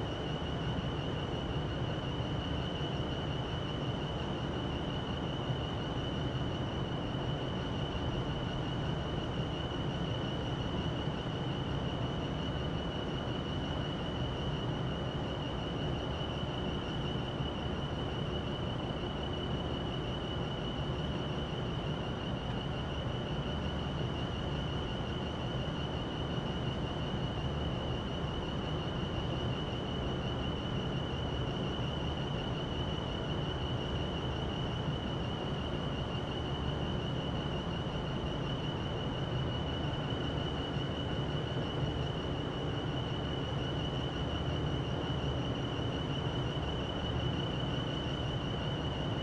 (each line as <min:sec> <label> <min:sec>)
0:00.0 wind 0:49.2